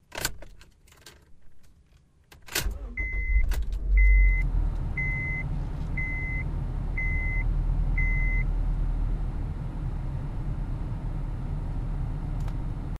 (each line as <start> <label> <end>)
2.6 Starting up a late model Honda Civic 12.9
2.8 seatbelt warning beep 8.5